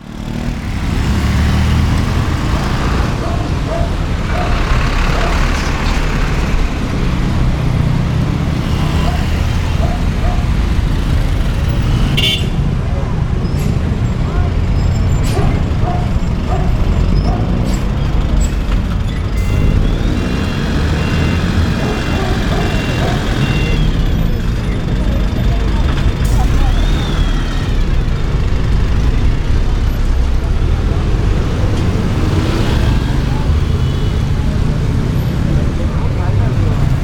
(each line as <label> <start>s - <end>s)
engines of the cars and buses 0.0s - 37.0s
people riding their bicycles at a considerable speed 0.0s - 37.0s
People pass by talking loudly 2.6s - 19.1s
whistles of cars and motorcycles 19.4s - 21.8s
People pass by talking loudly 21.6s - 37.0s
whistles of cars and motorcycles 22.4s - 24.5s